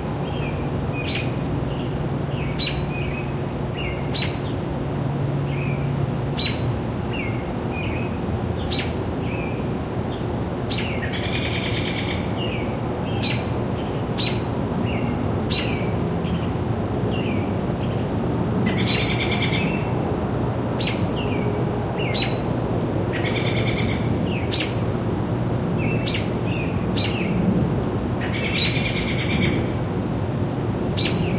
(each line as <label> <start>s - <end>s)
birds 0.0s - 20.0s
birds 20.8s - 22.5s
birds 23.1s - 25.0s
birds 25.8s - 27.4s
birds 28.2s - 29.8s
birds 30.9s - 31.3s